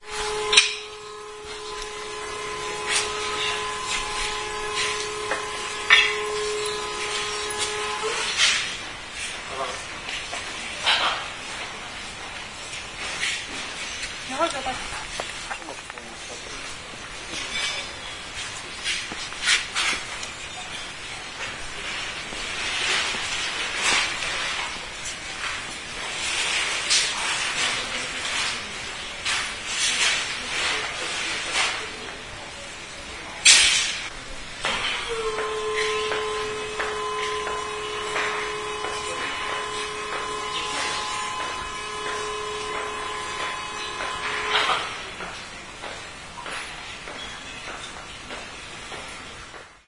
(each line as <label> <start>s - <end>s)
elevator 0.0s - 11.6s
steps 0.0s - 28.7s
voices 14.2s - 18.2s
voices 27.0s - 45.4s
elevator 34.5s - 49.6s
steps 34.7s - 49.8s